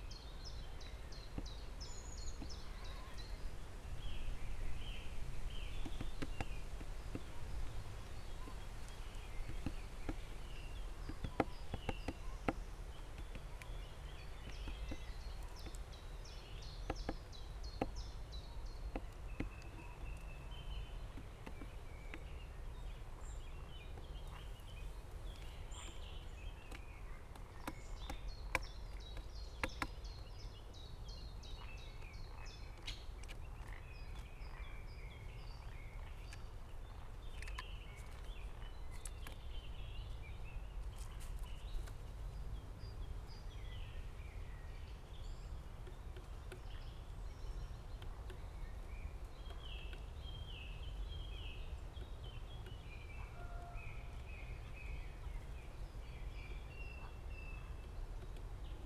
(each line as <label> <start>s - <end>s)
great spotted woodpecker 0.0s - 58.8s